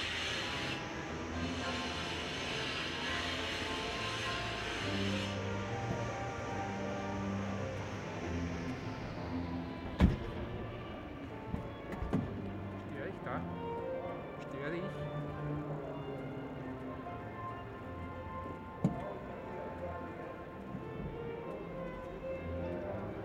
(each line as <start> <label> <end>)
0.0 Autofahrer 12.5